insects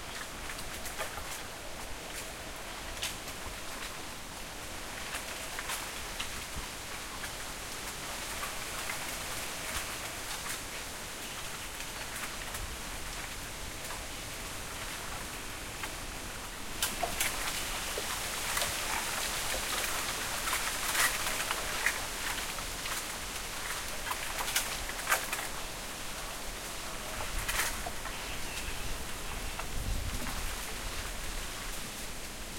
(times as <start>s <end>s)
14.2s 32.0s